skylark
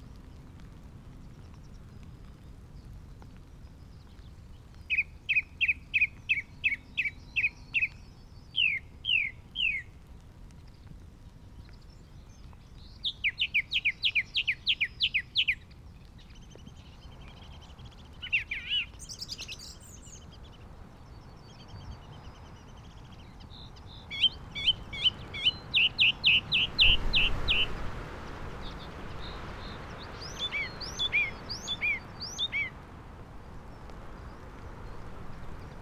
0:21.3 0:32.8

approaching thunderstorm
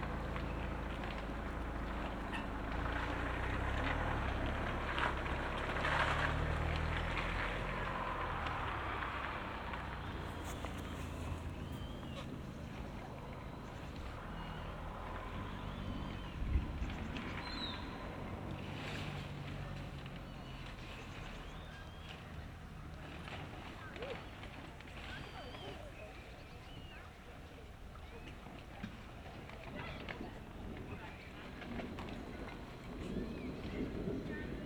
0:30.4 0:34.6

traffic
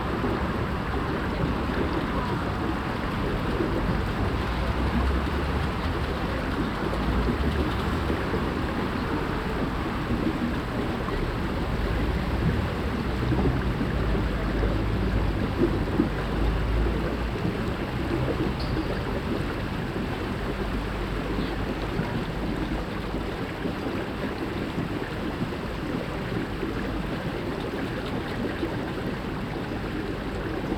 0:00.0 0:22.8

